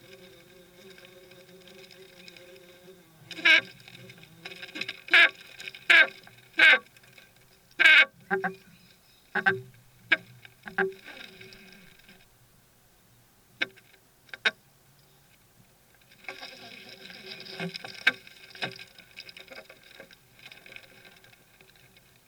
Beetles coming and going to their nest in the woodwork 0:00.0 - 0:12.3
Beetles coming and going to their nest in the woodwork 0:13.6 - 0:22.2

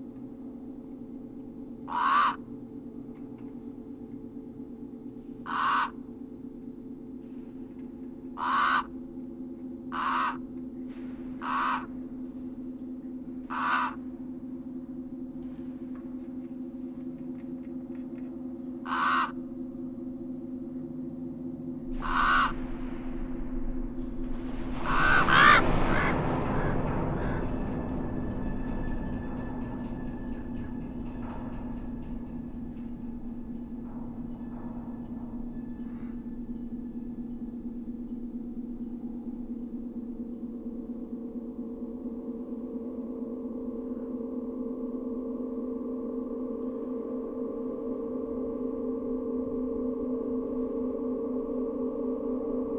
Earthquake and Aftershocks 0:22.0 - 0:31.9

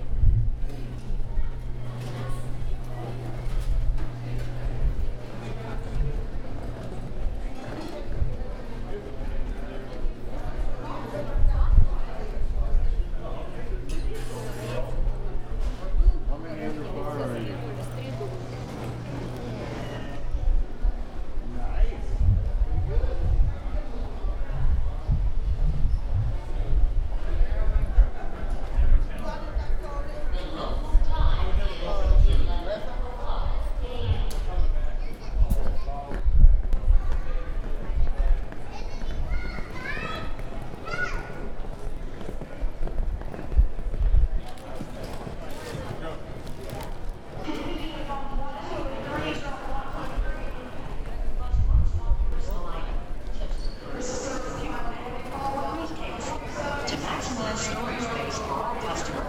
Machinery 0:00.5 - 0:08.2
Machinery 0:16.4 - 0:20.4

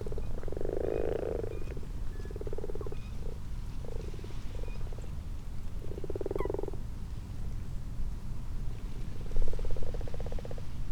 common frogs 0:00.0 - 0:05.0
common toads 0:00.0 - 0:04.9
common frogs 0:05.7 - 0:06.9
common toads 0:05.8 - 0:06.8
common frogs 0:09.3 - 0:10.8

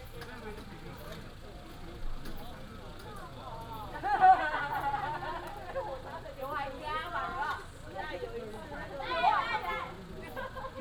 high school students gather in chat 0:00.0 - 0:10.8

